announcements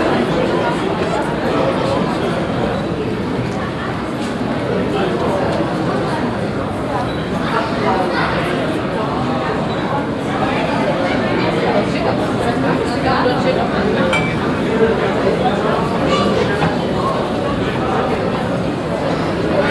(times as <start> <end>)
14.0 15.0